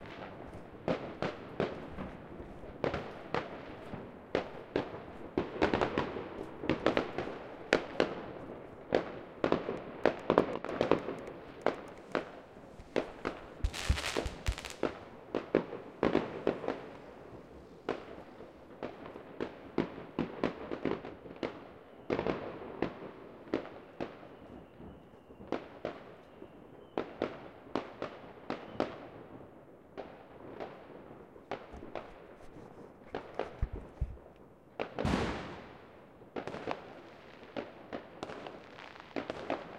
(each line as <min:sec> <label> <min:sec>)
0:00.0 Fireworks 0:39.7